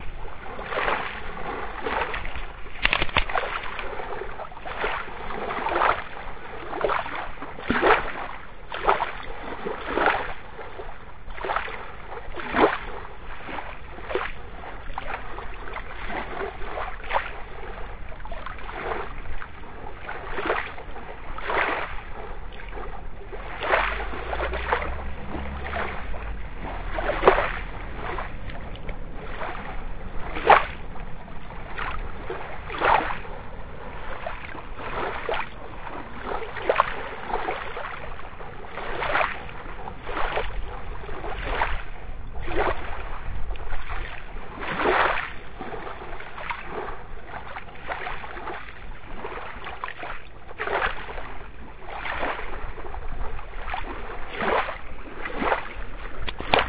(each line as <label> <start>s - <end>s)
waves 0.0s - 56.6s
gravels 23.6s - 41.8s